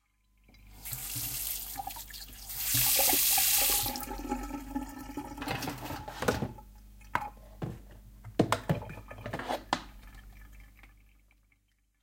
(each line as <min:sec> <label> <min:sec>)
0:00.5 tap running 0:01.9
0:02.6 tap running 0:04.0